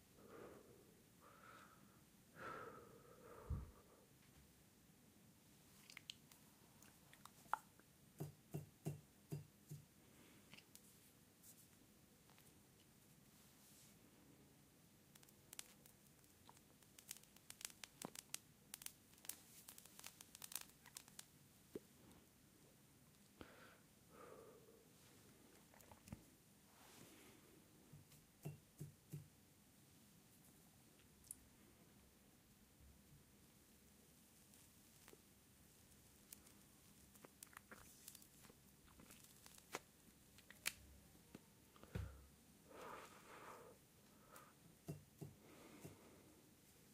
smoking 0:36.0 - 0:40.8

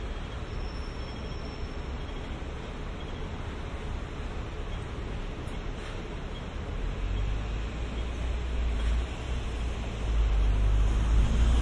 traffic 0:00.0 - 0:11.6

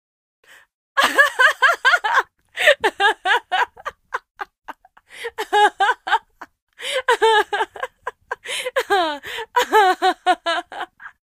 Woman Tickled Laughter 0:01.0 - 0:11.1

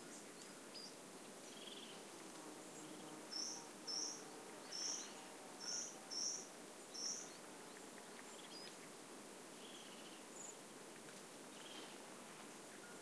singing birds 0:00.0 - 0:09.0
buzzing insects 0:01.6 - 0:07.2
singing birds 0:09.6 - 0:10.6
singing birds 0:11.5 - 0:12.0

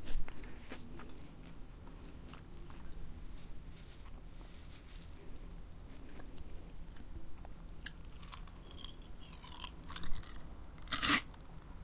crunching on cereal 0:07.7 - 0:11.4

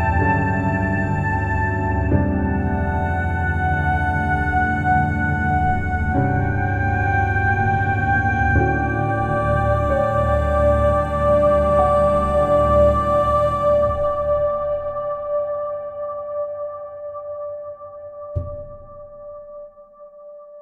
ethereal vocals 0:00.0 - 0:19.3

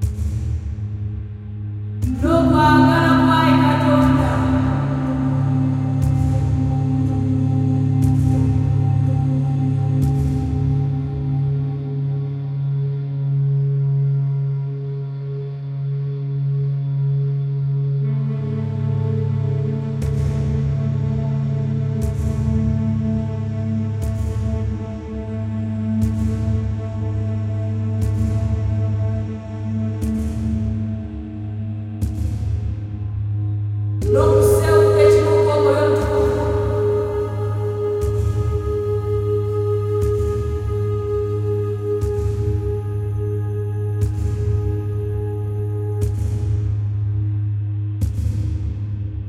Drone 0:00.0 - 0:12.7
Woman 0:02.1 - 0:06.0
Drone 0:20.4 - 0:48.0
Woman 0:34.1 - 0:39.0

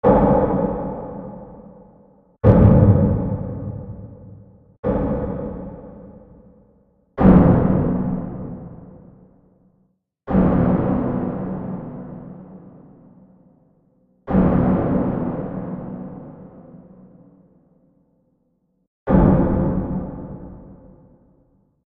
Impact Boom 0:02.4 - 0:05.8

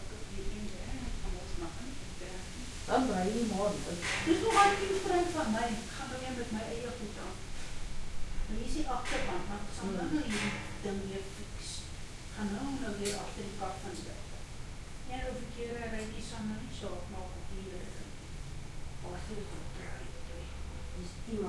Afrikaans Voices 0:00.0 - 0:07.7
Afrikaans Voices 0:08.4 - 0:14.4
Afrikaans Voices 0:19.0 - 0:21.4

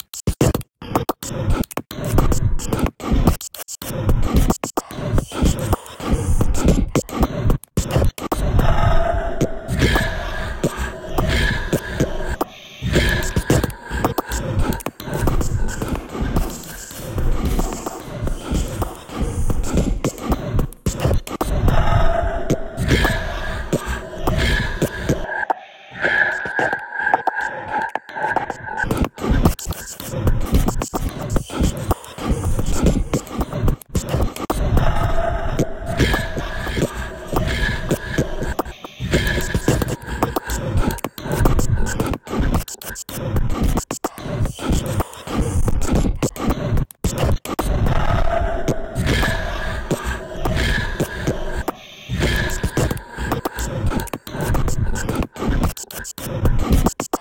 nonsensical whispering 0:00.0 - 0:57.2

